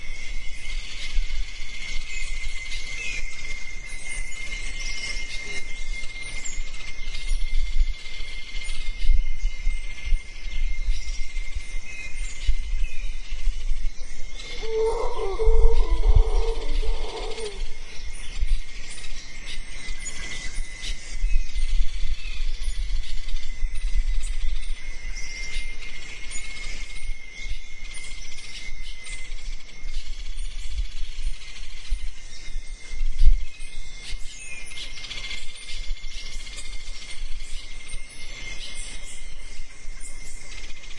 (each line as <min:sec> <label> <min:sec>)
0:00.0 birds 0:40.9
0:00.0 insects 0:40.9
0:14.3 monkeys 0:19.1